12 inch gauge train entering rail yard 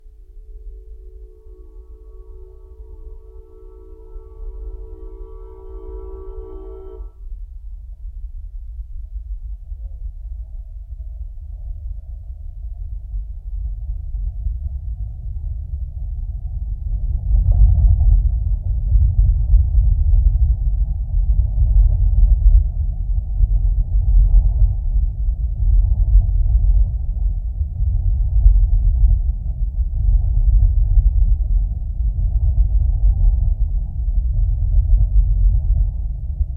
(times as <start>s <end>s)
0.1s 7.2s